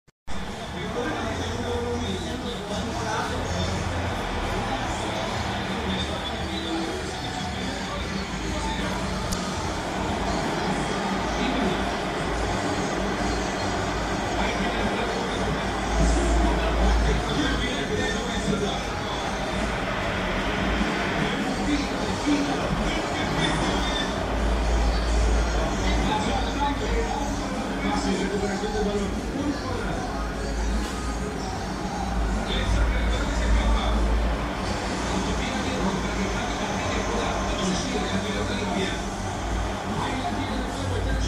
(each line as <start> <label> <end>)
0.3 consolas de vídeo juegos 41.2